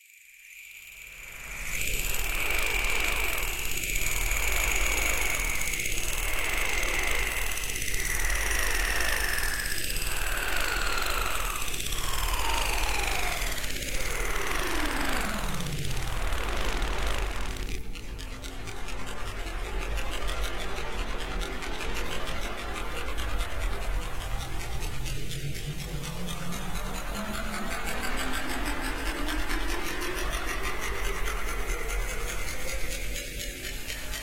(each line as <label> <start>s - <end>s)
Accelerating and Decelerating Panning Pulse 1.0s - 34.2s